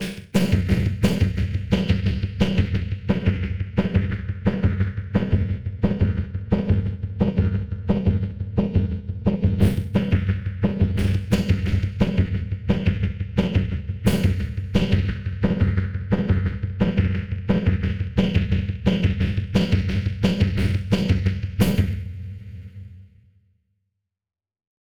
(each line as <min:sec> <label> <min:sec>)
0:00.0 Snare Drum 0:04.6
0:00.0 Bass Drum 0:22.8
0:09.5 Snare Drum 0:15.6
0:17.6 Snare Drum 0:22.0